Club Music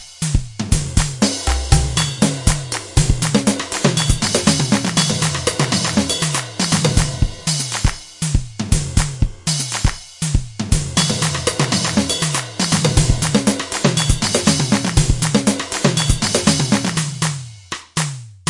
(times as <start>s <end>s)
1.2s 10.4s